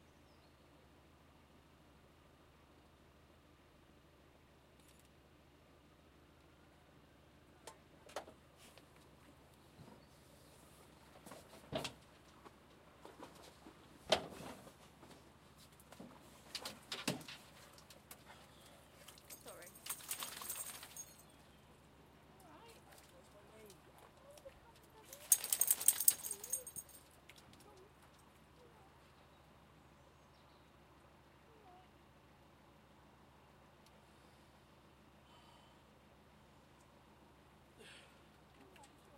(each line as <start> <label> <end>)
18.8 water 21.1
19.0 dog being pulled from river before shaking off 21.2
25.1 dog being pulled from river before shaking off 26.9